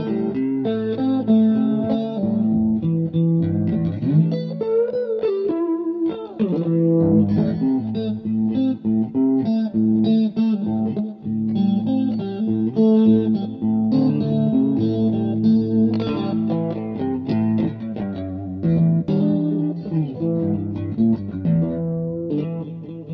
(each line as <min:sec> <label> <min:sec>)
0:00.0 guitar 0:23.1